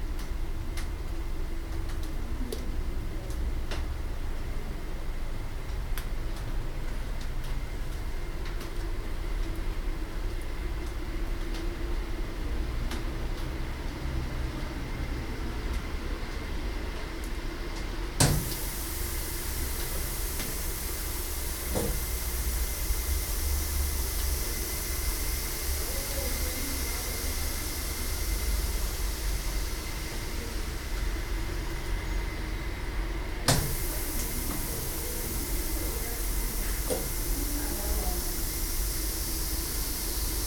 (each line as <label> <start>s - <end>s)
Hisses and drops of the moisturising system 18.2s - 31.2s
Hisses and drops of the moisturising system 33.5s - 40.4s